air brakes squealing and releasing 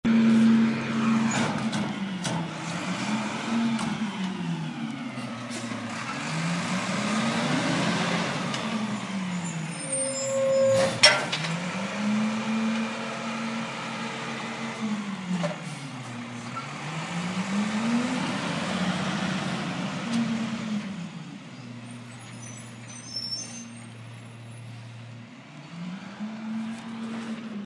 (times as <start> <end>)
9.2 11.3, 21.6 24.8